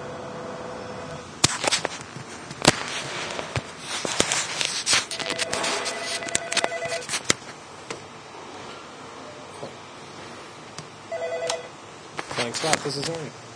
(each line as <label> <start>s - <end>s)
phone rings 5.2s - 7.1s
phone rings 11.1s - 11.8s